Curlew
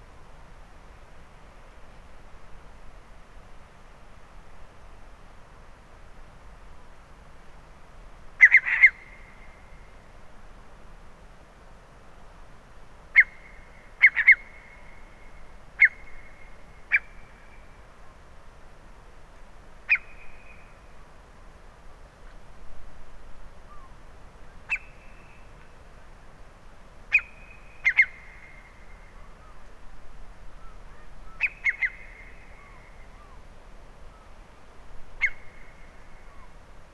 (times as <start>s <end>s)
13.2s 14.8s, 27.1s 29.6s, 30.6s 33.4s, 35.2s 36.6s